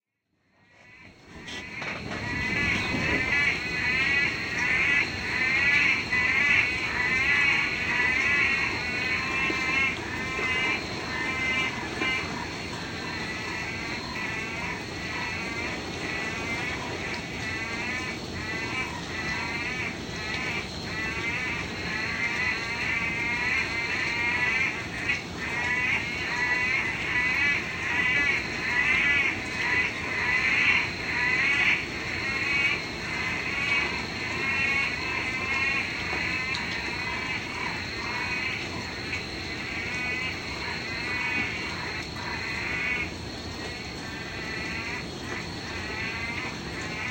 Loud strange sounding tropical rainforest frogs 0:00.4 - 0:47.1

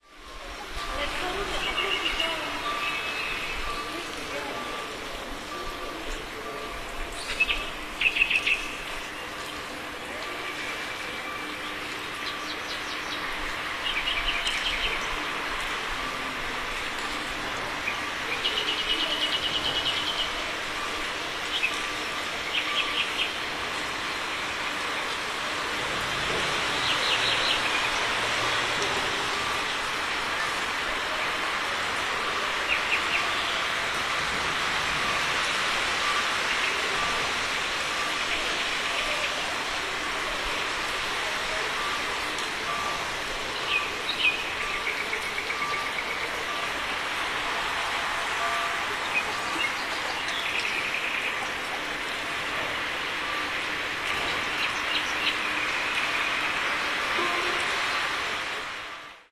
church bells 0:00.0 - 0:59.3
water 0:00.0 - 0:59.3
people 0:00.2 - 0:13.4
birds singing 0:00.6 - 0:15.8
birds singing 0:16.9 - 0:25.3
birds singing 0:26.3 - 0:29.8
birds singing 0:42.6 - 0:47.2
birds singing 0:49.0 - 0:58.1

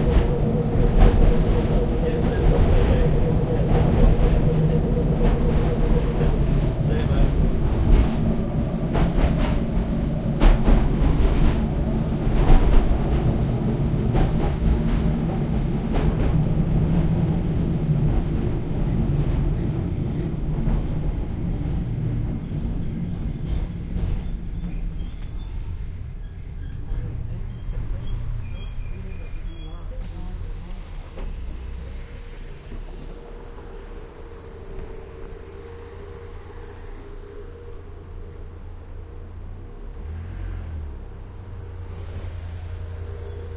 W-class tram 0:00.0 - 0:43.5
road noise 0:00.0 - 0:43.5
people speaking 0:01.0 - 0:07.8
people speaking 0:28.8 - 0:31.9

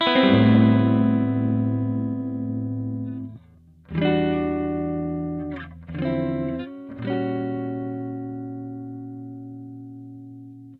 jazz guitar 0:00.0 - 0:10.7

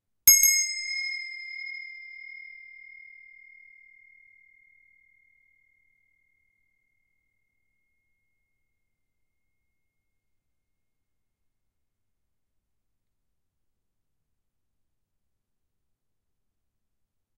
small brass bell 0:00.3 - 0:10.0

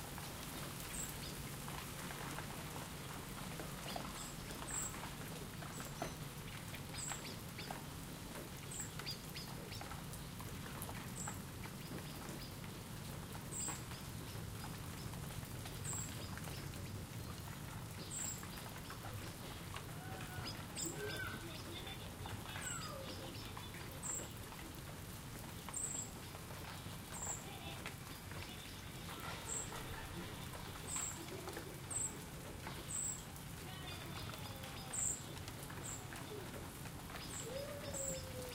Children in a neighbouring garden play 0:00.0 - 0:38.5
heavyish rain which gently stops 0:00.0 - 0:38.5
wind is audible in the trees 0:00.0 - 0:38.5

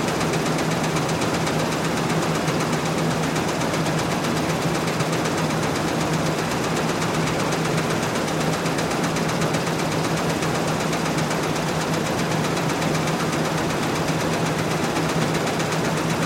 Factory machine 0:00.0 - 0:16.2

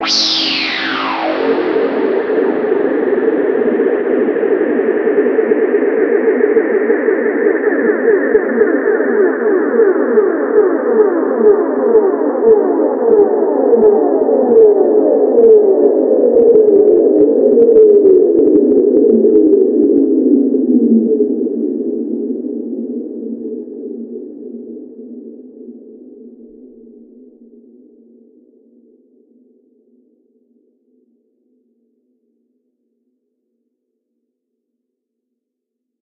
siren 0:00.0 - 0:18.4

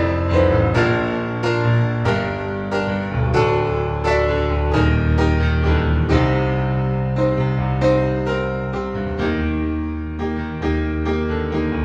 piano 0:00.0 - 0:11.8

